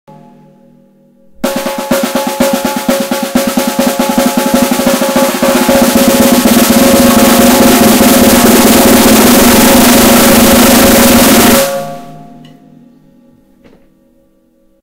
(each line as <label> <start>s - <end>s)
Sonic Drum Roll 1.3s - 12.4s